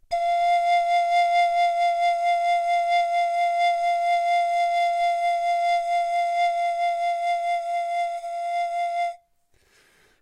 long tone vibrato pan pipe 0.1 - 9.2

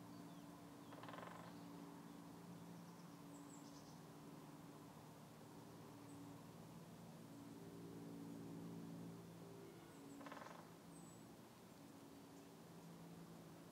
airplane 0.0 - 13.7
wind 0.0 - 13.7
woodpecker 0.8 - 1.7
woodpecker 10.0 - 11.1

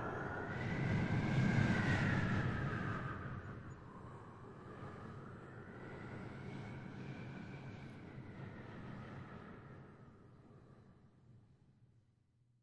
vocal imitation of a cold howling wind 0.0 - 5.8

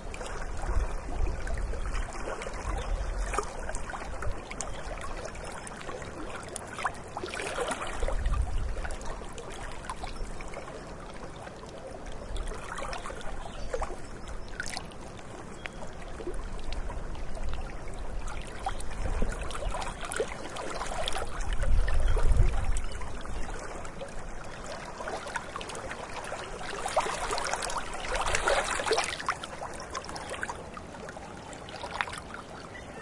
Lake gently lapping the shore 0.0 - 33.0
occasional wind 0.0 - 33.0
Birds 32.1 - 33.0

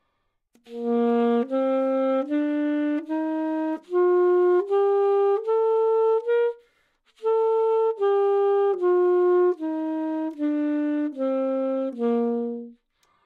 Sax Alto 0.6 - 13.2

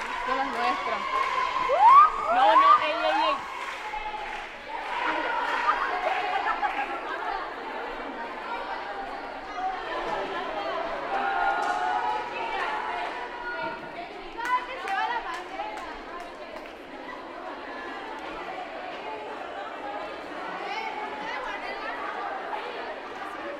applause 0.0 - 7.5
applause 11.0 - 17.0

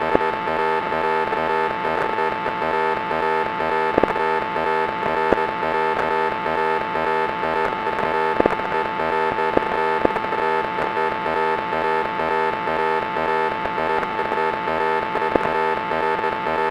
static 0.0 - 16.7

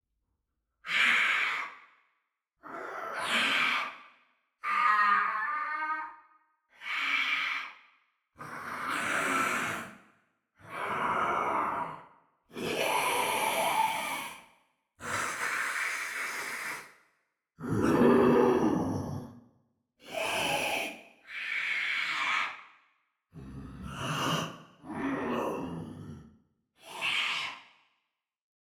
screams of the creatures 0.9 - 1.9
roar 2.6 - 7.8
growls 2.6 - 4.0
screams of the creatures 2.6 - 7.8
growls 8.4 - 14.4
roar 8.4 - 16.9
screams of the creatures 8.4 - 9.9
screams of the creatures 15.0 - 17.0
growls 17.6 - 19.4
roar 17.6 - 27.9
screams of the creatures 20.1 - 22.8
growls 23.3 - 27.7
screams of the creatures 26.8 - 27.8

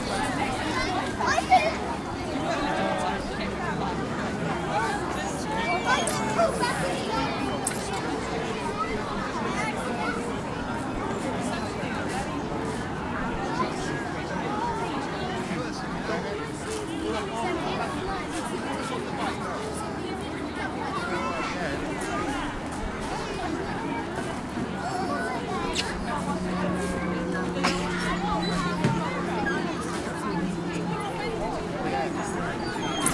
children and adults 0.0 - 33.1

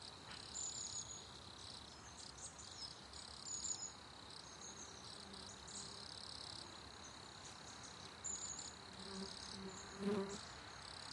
Birds 0.0 - 11.1
Crickets 0.0 - 11.1
Fly 0.0 - 11.1

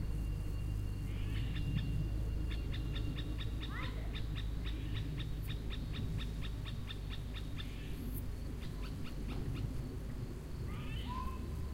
birds 0.0 - 11.7
crickets 0.0 - 11.7
children 10.6 - 11.7

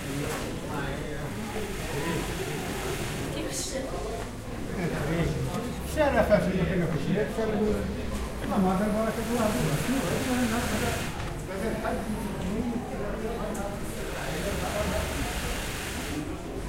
people 0.0 - 16.6

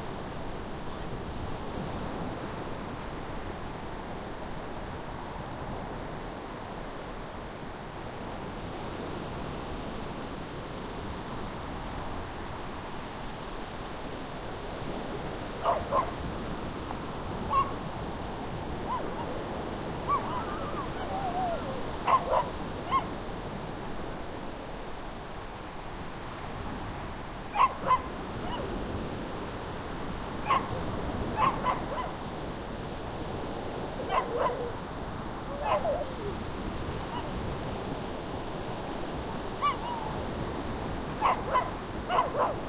waves 0.0 - 42.6
dog barking 15.6 - 16.2
dog barking 17.5 - 17.8
dog barking 18.9 - 19.4
dog barking 20.1 - 23.1
dog barking 27.5 - 28.7
dog barking 30.4 - 32.2
dog barking 34.0 - 34.8
dog barking 35.5 - 36.4
dog barking 39.6 - 40.2
dog barking 41.2 - 42.6

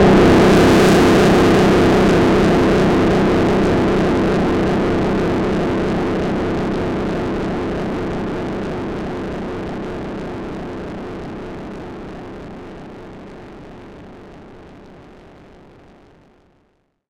Banging bass-noise with long decay 0.0 - 13.2

